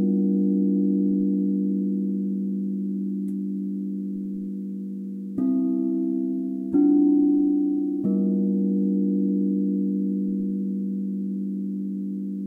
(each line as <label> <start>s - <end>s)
Multiple Crystal Bowl Rhythm 0.0s - 12.4s